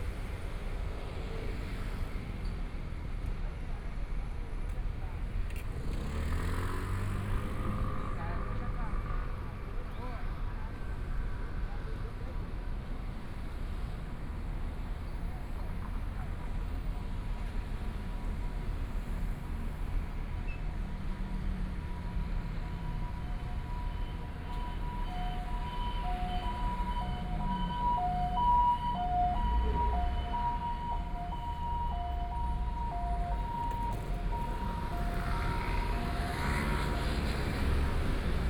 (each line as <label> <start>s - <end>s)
Traffic Sound 0.0s - 38.4s
Construction site sounds 14.6s - 38.4s